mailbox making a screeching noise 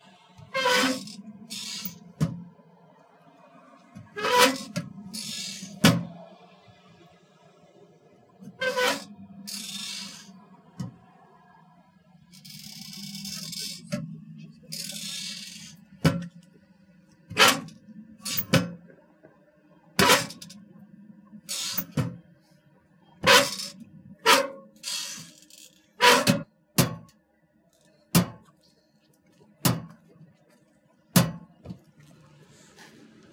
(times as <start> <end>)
0.5 2.0, 4.2 5.9, 8.6 10.4, 14.7 15.8, 21.5 22.0, 23.2 25.4